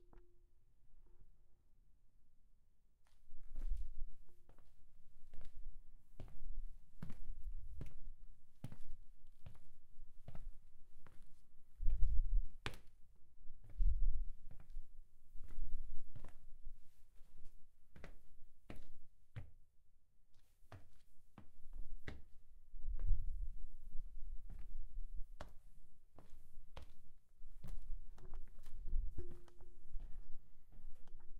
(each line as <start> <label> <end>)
3.1 Footsteps - quiet 12.9
20.3 Footsteps - quiet 31.3